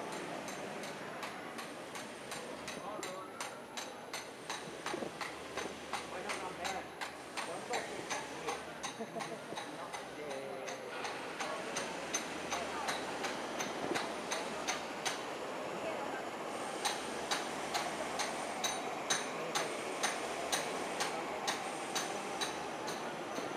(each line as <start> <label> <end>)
0.0 workers sounds 23.5